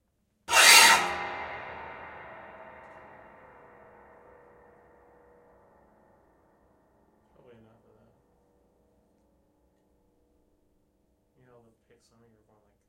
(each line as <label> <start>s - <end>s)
old bare piano soundboard manipulated in various ways 0.5s - 3.2s